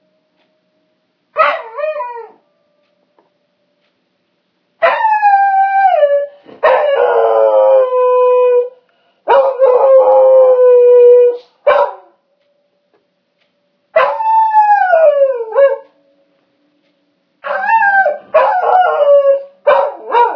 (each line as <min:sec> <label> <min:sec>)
0:11.7 dog 0:12.1
0:19.7 dog 0:20.3